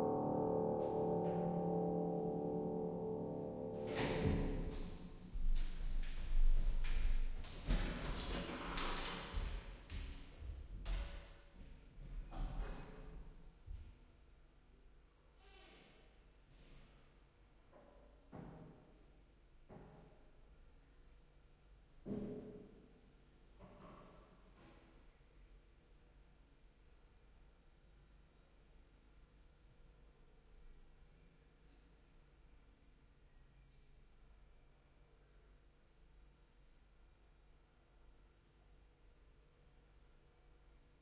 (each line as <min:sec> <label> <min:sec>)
0:00.0 piano improvisation 0:06.7